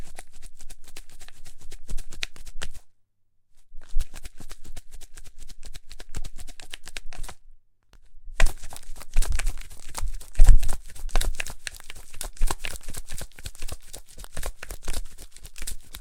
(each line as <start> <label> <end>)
3.8 Onions shaking in hands 7.4
8.4 Onions shaking in hands 16.0